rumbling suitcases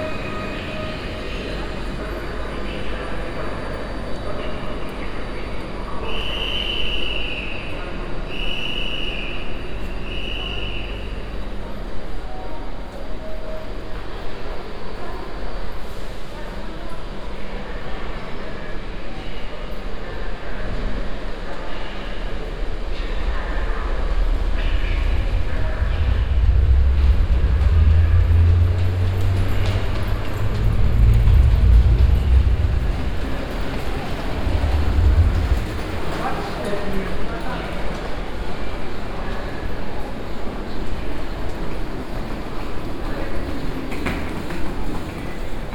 22.7s 37.5s

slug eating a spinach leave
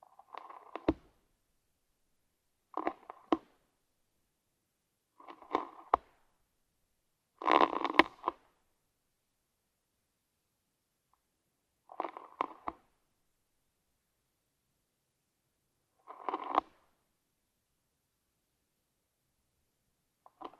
7.4s 8.3s, 16.0s 16.7s

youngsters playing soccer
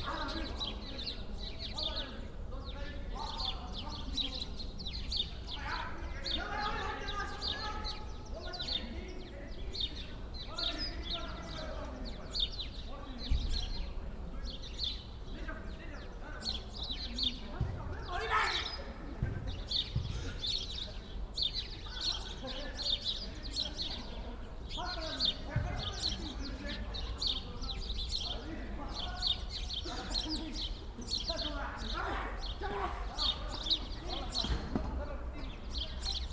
16.5s 36.3s

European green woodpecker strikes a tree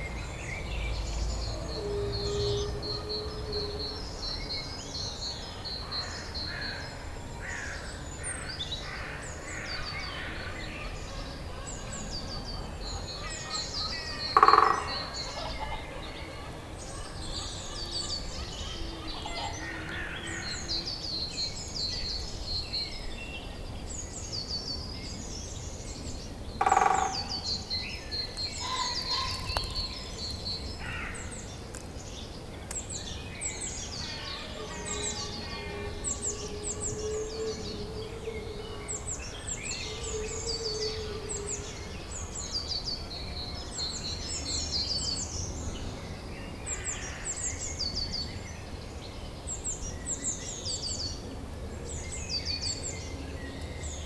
28.4s 30.5s

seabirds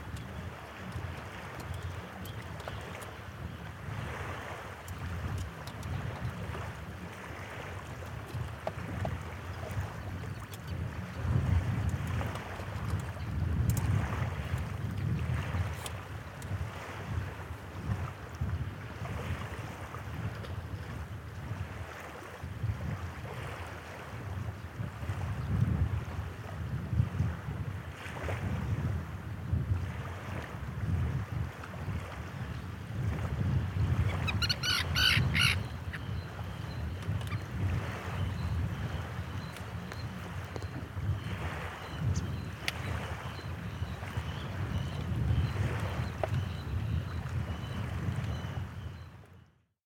0.0s 14.6s, 33.7s 49.5s

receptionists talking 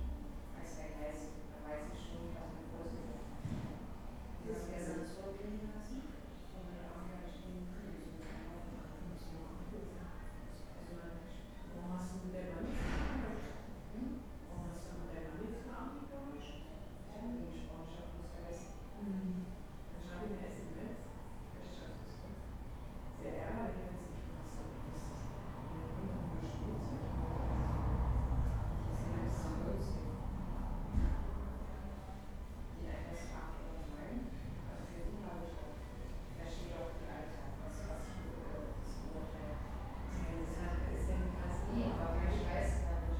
31.3s 43.1s

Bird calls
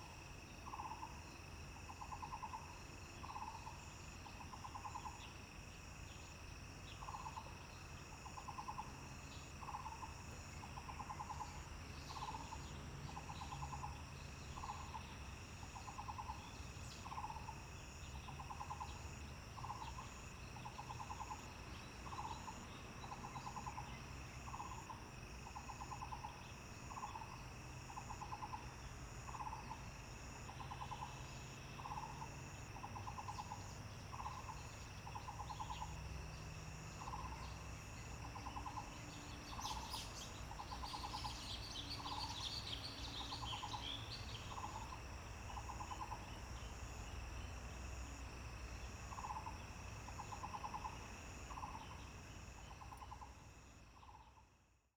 37.0s 45.0s

